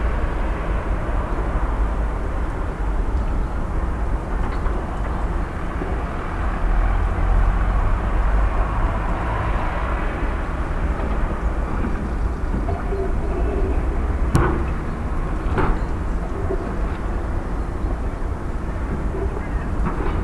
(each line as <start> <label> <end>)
0.0 sounds of a city under construction 20.2